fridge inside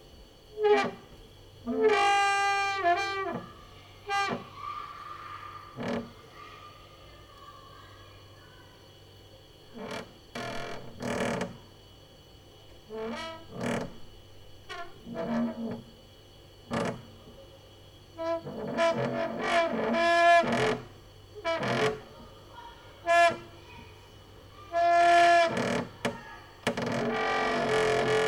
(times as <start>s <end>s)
16.7s 28.2s